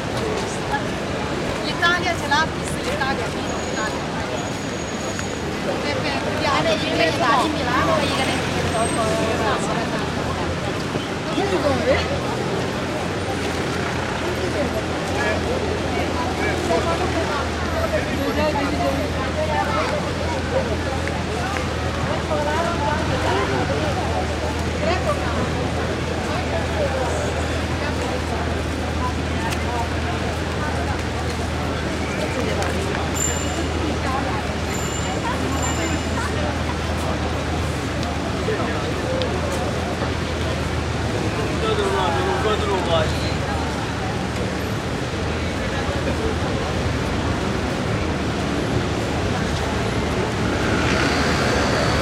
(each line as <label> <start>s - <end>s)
dense street traffic 0.0s - 52.0s